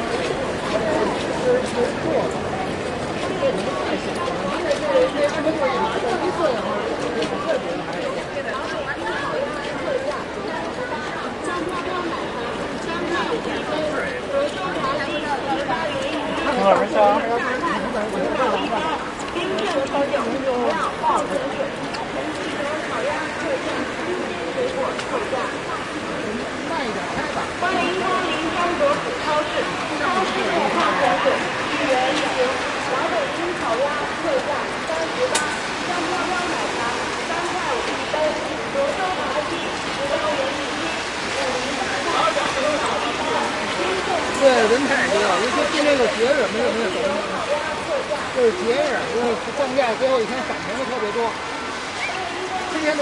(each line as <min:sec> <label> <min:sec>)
0:00.0 Large Crowd 0:53.0
0:00.0 rain 0:53.0